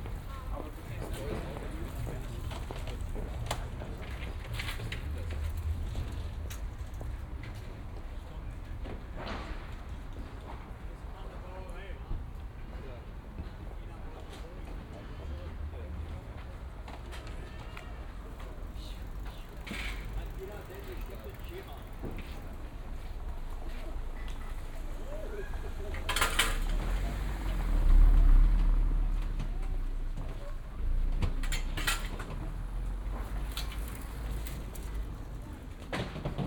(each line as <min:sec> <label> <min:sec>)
0:18.4 man regulates traffic 0:30.8